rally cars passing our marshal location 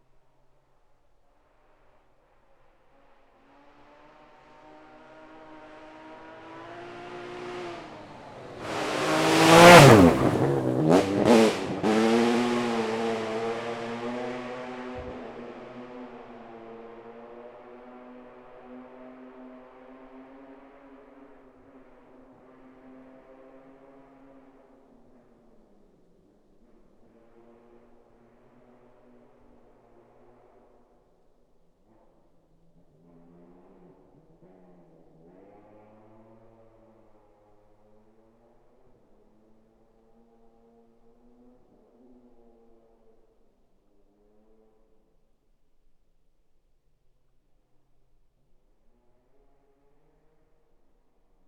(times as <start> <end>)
3.4 25.4